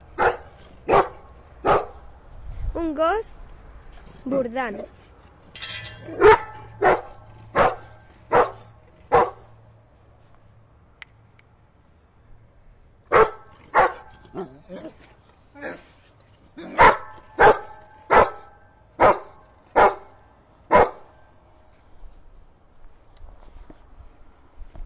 dog 0:00.2 - 0:02.0
dog 0:06.2 - 0:09.5
dog 0:13.1 - 0:15.0
dog 0:16.7 - 0:21.1

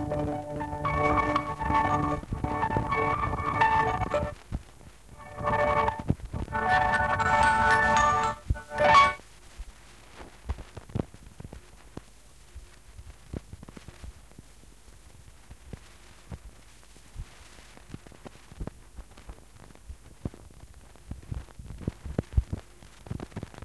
cassette 0:00.0 - 0:14.5
cassette 0:15.1 - 0:23.6

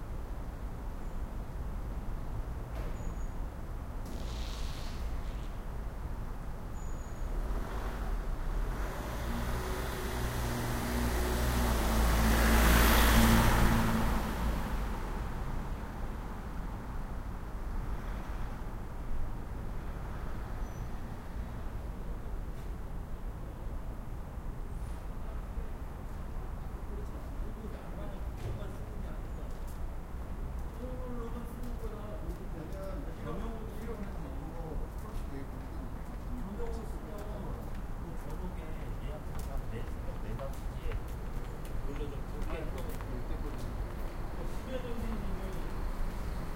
cars 0:00.7 - 0:46.5
trucks 0:02.6 - 0:18.8
trucks 0:24.7 - 0:46.5

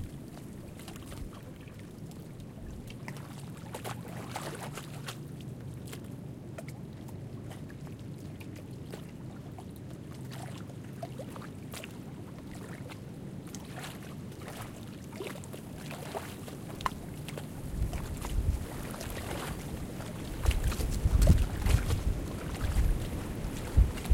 lake waves lapping at the short of a small lake 0:00.0 - 0:24.1
winds were blowing steady 0:16.4 - 0:24.1

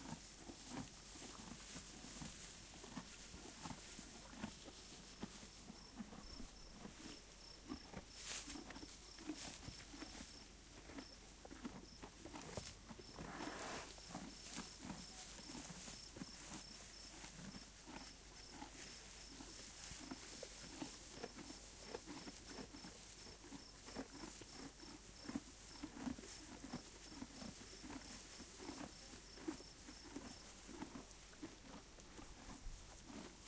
Donkeys eating 0:00.0 - 0:33.4

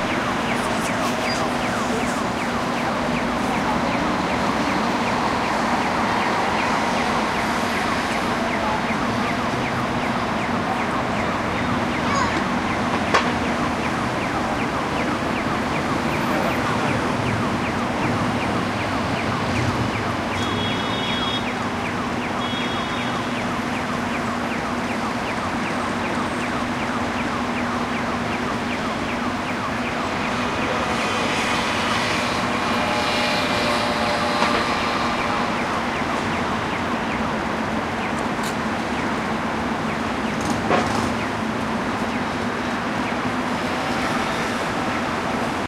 voices 0:00.0 - 0:19.7
acoustic signal for pedestrians 0:00.0 - 0:45.6
traffic 0:00.0 - 0:45.6
car horns 0:20.3 - 0:21.6
car horns 0:22.4 - 0:23.4

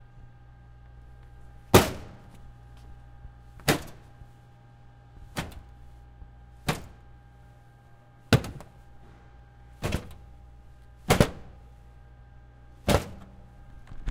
hit kick copy machine plastic 0:01.6 - 0:02.9
hit kick copy machine plastic 0:03.5 - 0:04.4
hit kick copy machine plastic 0:05.1 - 0:07.6
hit kick copy machine plastic 0:08.2 - 0:11.8
hit kick copy machine plastic 0:12.8 - 0:14.1

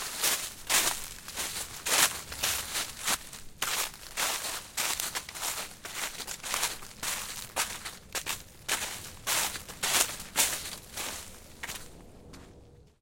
steps on leaf 0:00.0 - 0:12.5

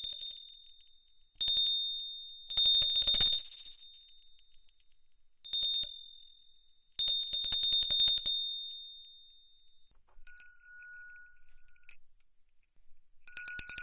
small bells ringing 0:08.0 - 0:12.0
small bells ringing 0:13.3 - 0:13.8

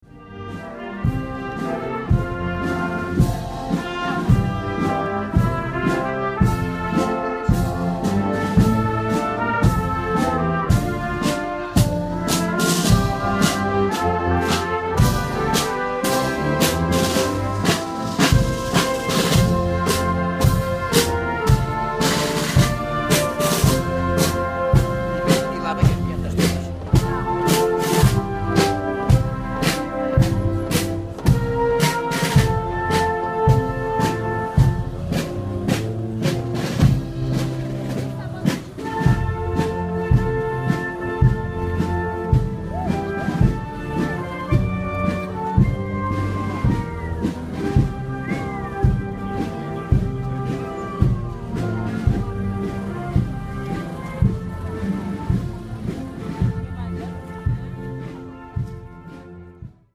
music 0:00.0 - 0:59.9
people 0:00.3 - 0:59.7

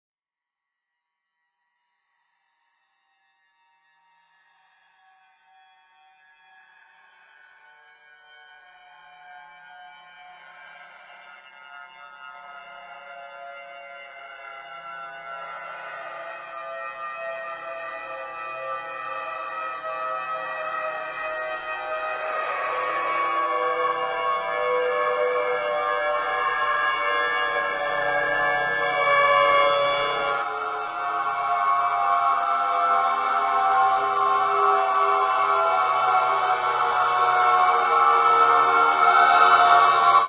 Piano 0:08.8 - 0:40.2

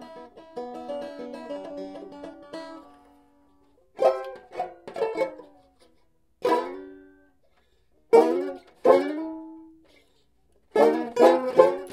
banjo being played erratically 0:00.0 - 0:11.9

